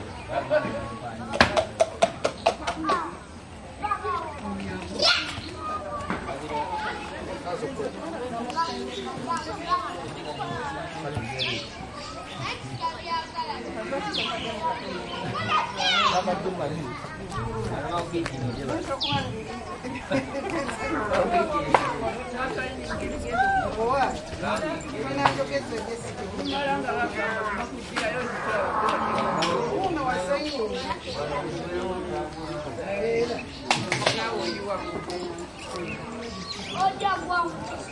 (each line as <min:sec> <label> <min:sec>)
0:00.0 soft distant traffic 0:33.6
0:00.0 voices 0:37.9
0:23.7 steps 0:30.1